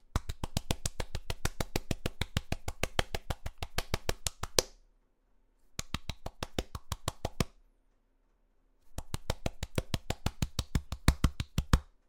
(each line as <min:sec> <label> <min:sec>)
0:00.2 excited fast clapping 0:04.8
0:05.8 excited fast clapping 0:07.5
0:09.0 excited fast clapping 0:11.9